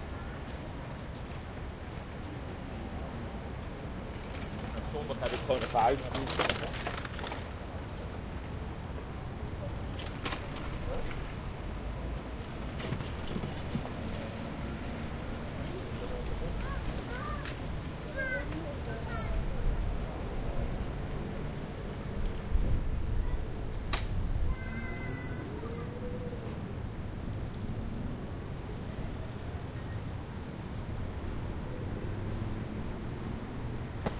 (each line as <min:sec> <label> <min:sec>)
0:00.0 bikes 0:34.1
0:00.0 medium to heavy traffic 0:34.1
0:04.0 scooters 0:08.1
0:08.8 scooters 0:22.5